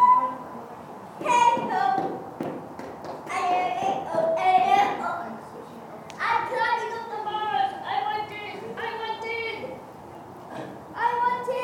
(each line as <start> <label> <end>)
3.1 Kids play 9.8
10.4 Kids play 11.6